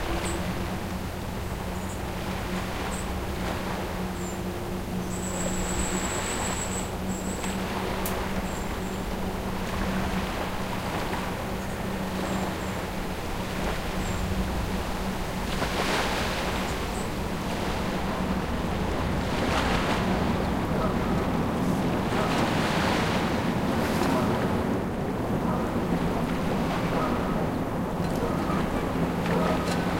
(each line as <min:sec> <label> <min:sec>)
0:00.0 waves 0:29.9